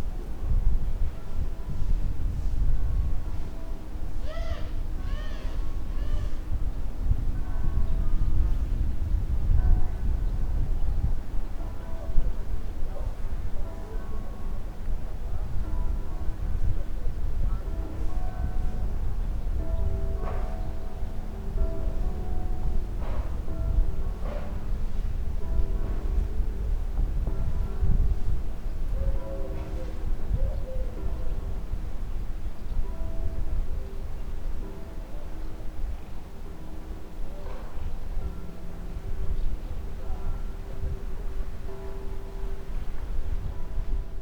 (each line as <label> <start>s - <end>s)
church bells from different villages echoing over the mountains 0.0s - 44.2s